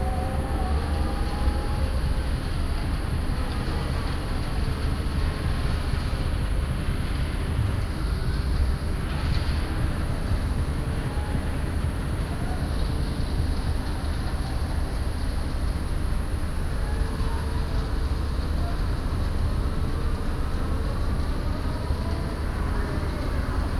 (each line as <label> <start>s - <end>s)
industrial sounds travelling across the river 0.0s - 23.7s